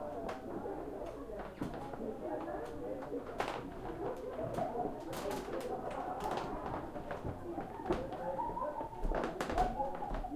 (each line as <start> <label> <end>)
0.0 crowd lively voices 10.3
1.0 creaky footsteps wood floor 10.3